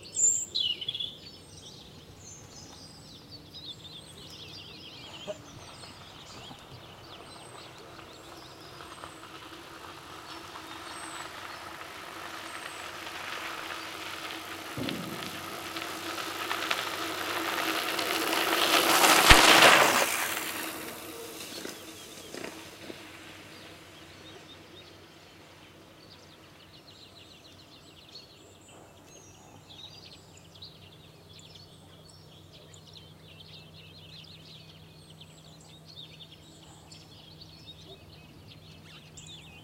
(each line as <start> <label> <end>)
0.0 birds singing 16.9
0.0 cyclist on a dirt road passes 39.6
14.8 gun shots 16.3
17.7 birds singing 39.6